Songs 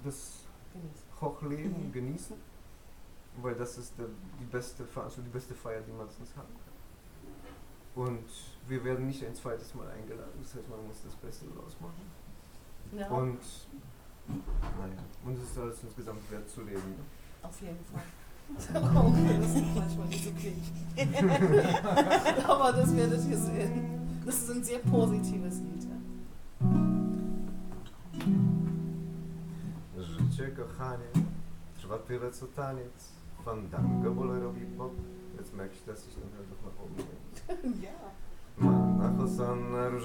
18.7s 29.5s

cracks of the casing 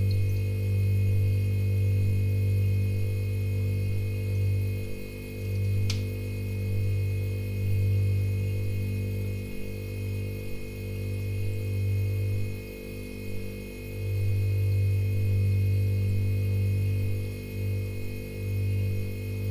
5.8s 6.1s

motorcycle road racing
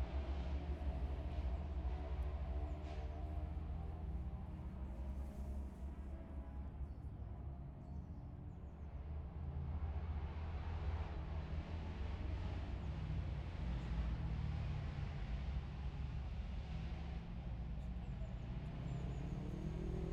18.4s 20.1s

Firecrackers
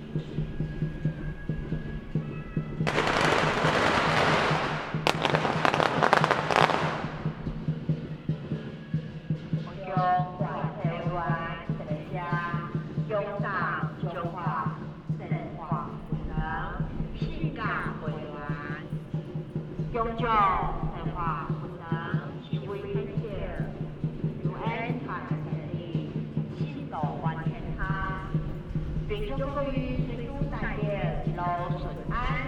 0.0s 8.6s

